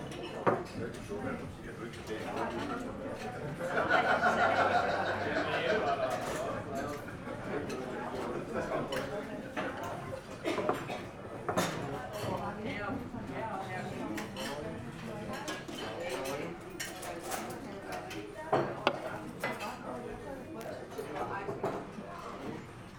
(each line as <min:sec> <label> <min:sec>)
0:00.0 very busy restaurant 0:22.9
0:15.4 plates 0:19.8